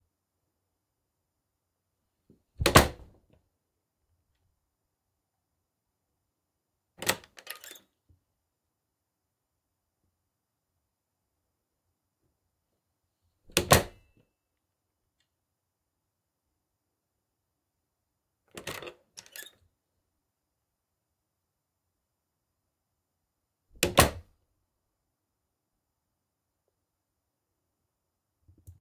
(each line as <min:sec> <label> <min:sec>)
0:02.6 opening and closing door 0:03.1
0:02.6 slam 0:03.1
0:13.5 opening and closing door 0:14.0
0:18.5 opening and closing door 0:19.6
0:23.8 opening and closing door 0:24.3